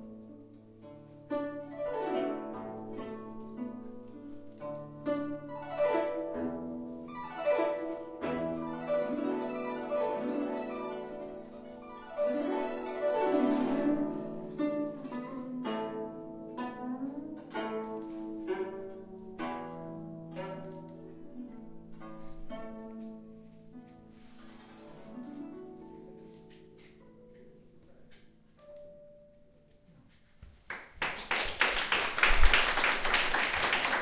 guzheng 0.0 - 30.4
pipa 0.0 - 34.0
guzheng 31.5 - 34.0

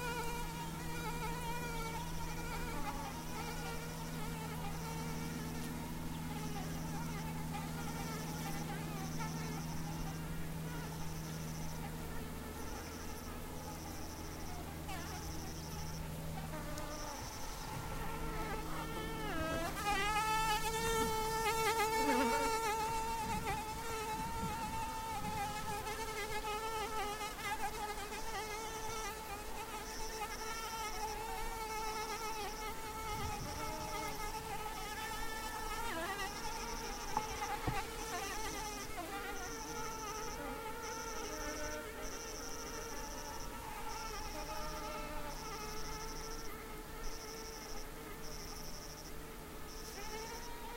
airplane passing 0.0 - 27.0
cicadas 0.0 - 50.7

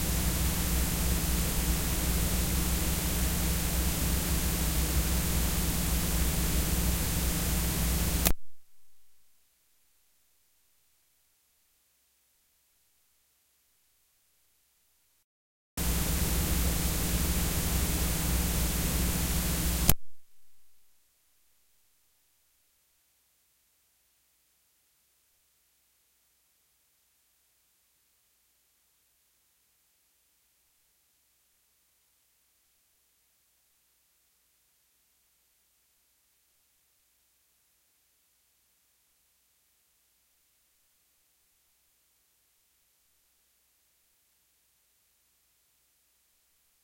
switch on, off 0.0 - 8.4
ground hum 0.0 - 9.0
cassette tape hiss 0.0 - 9.1
white noise static 0.0 - 11.3
switch on, off 15.8 - 20.6
ground hum 15.8 - 20.6
cassette tape hiss 15.8 - 20.8
white noise static 15.8 - 22.7

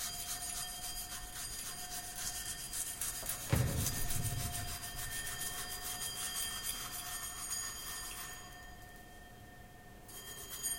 brush rubbed on a small bell 0.0 - 9.4
brush rubbed on a small bell 10.0 - 10.7

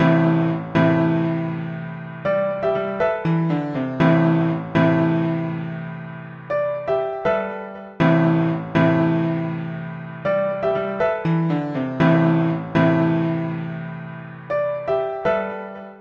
dramatic piano line 0.0 - 16.0

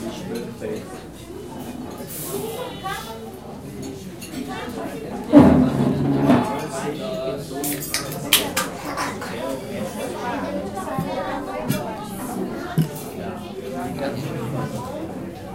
children 8.5 - 15.5

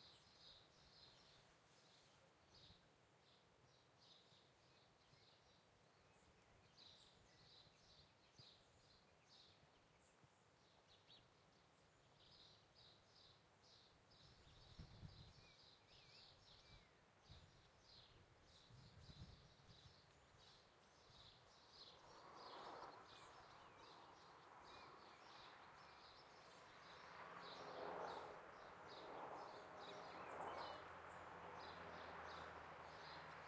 birds 0.0 - 33.4
wind windy trees 0.0 - 33.4
road 21.3 - 33.4

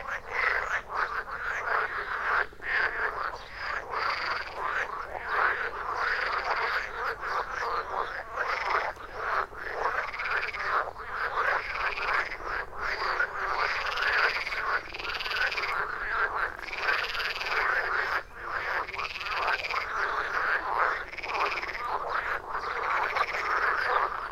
Douzens of frogs within a ditch 0.0 - 24.3
bird 12.9 - 24.3

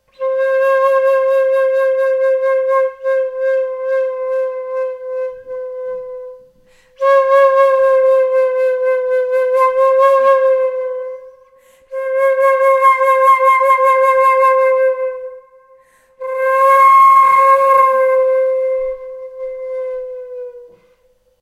Flute improvising with the note C 16.2 - 21.1

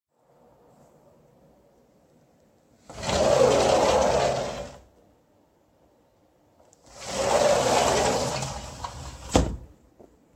Sliding glass door opening and closing 2.8 - 4.9
Sliding glass door opening and closing 6.8 - 9.7

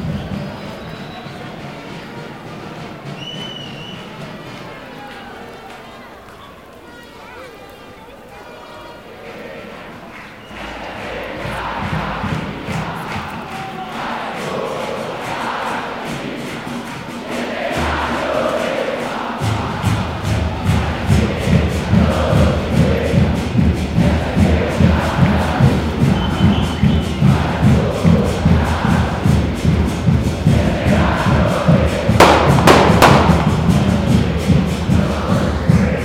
football's chants 0.0 - 36.0
horns 0.0 - 36.0
Explosions 32.2 - 34.1

